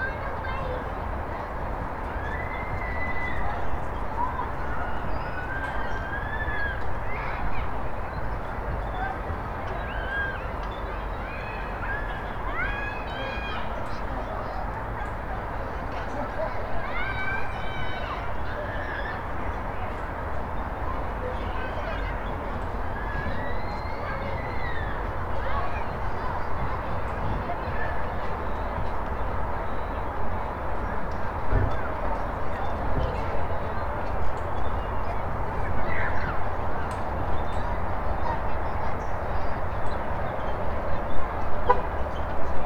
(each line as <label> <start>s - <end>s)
Children playing 0.0s - 42.6s
people walking around the park 0.0s - 42.6s
traffic sounds 24.2s - 42.6s